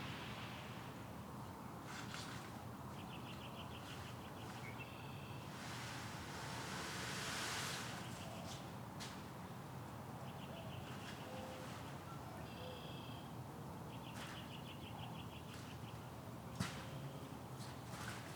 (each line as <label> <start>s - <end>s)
aircraft 0.0s - 9.3s
aircraft 14.0s - 14.5s